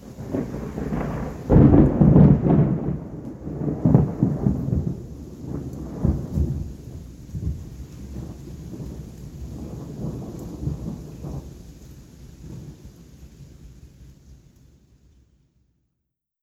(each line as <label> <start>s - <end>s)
sharp crackle of thunder 0.0s - 13.8s